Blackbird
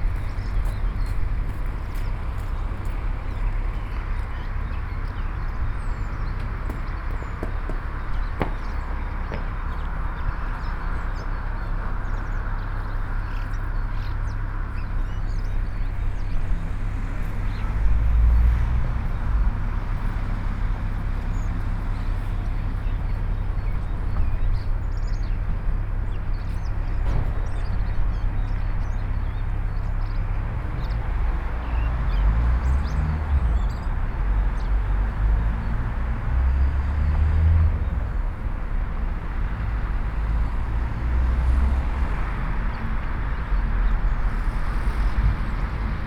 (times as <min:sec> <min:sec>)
0:00.0 0:16.6